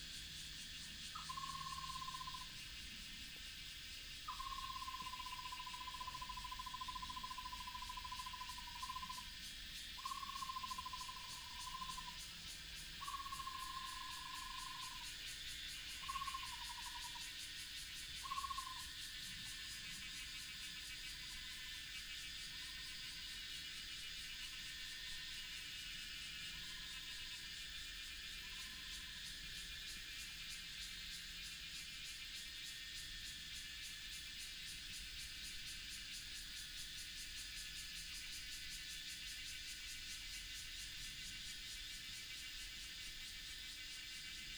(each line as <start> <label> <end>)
0.0 Cicada cry 44.5